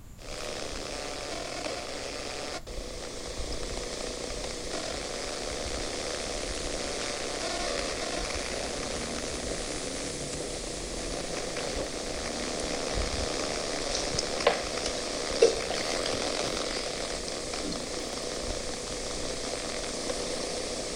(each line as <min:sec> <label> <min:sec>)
0:08.8 fizzy water 0:19.4